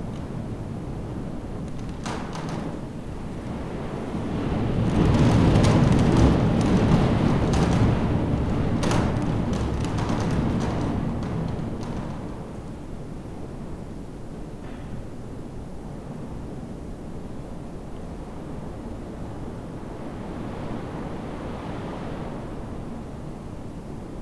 0.0s storm 15.1s
4.3s confessional box rattling in draft 12.8s

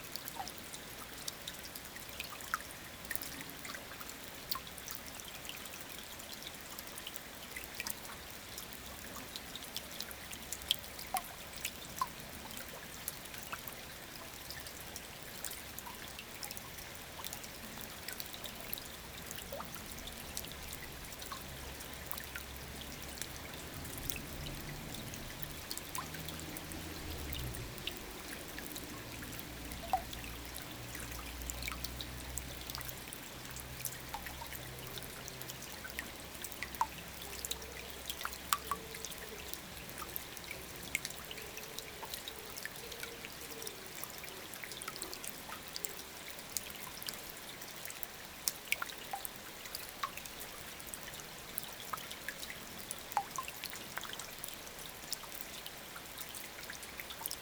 0.0s river flows very quietly 57.4s
20.8s end of a long sad rain 32.6s

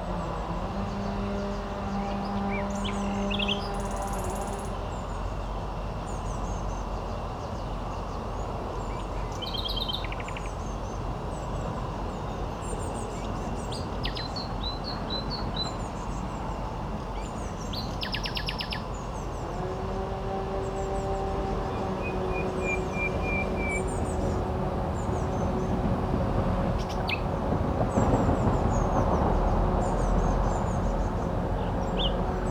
19.2s heavy traffic 32.5s

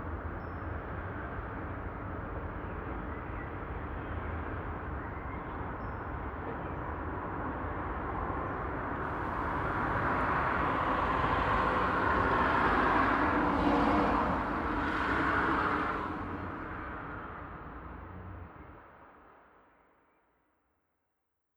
9.0s Passing Traffic 18.4s

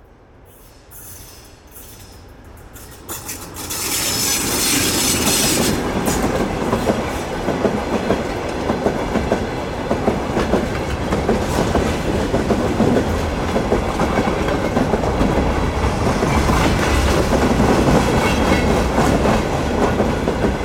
0.0s empty train cars arrive 20.6s

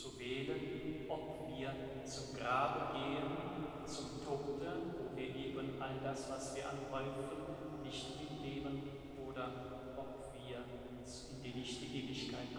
0.0s priest talks 12.5s

